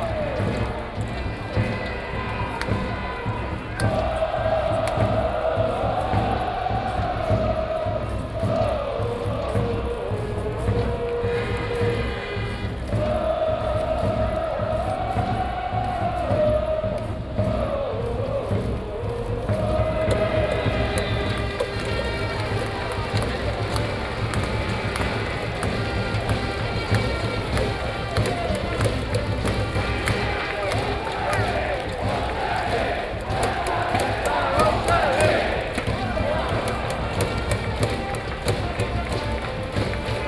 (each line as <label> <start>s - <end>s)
baseball game 0.0s - 40.2s
Cheers and refueling sound 18.6s - 40.2s